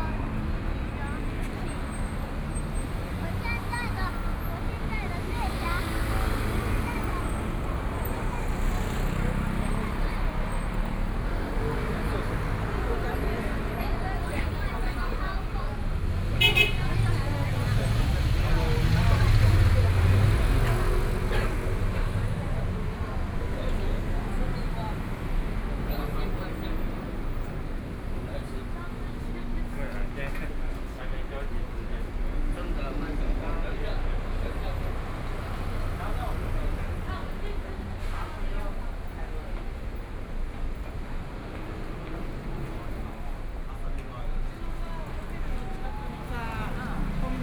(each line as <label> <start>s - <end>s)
walking on the road 0.0s - 47.4s